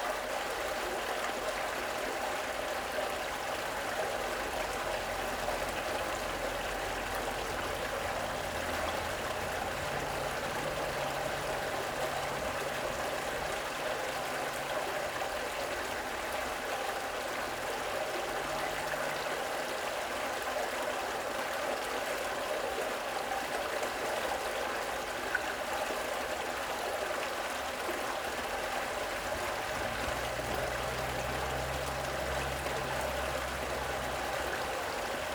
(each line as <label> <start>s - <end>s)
underground stream flowing underground 0.0s - 35.3s